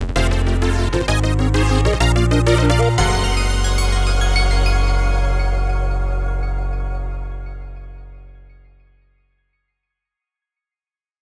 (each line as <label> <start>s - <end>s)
Victory Fanfare 0.0s - 8.2s